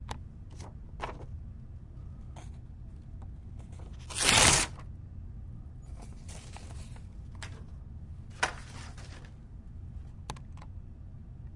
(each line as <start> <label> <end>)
4.0 paper rip 4.8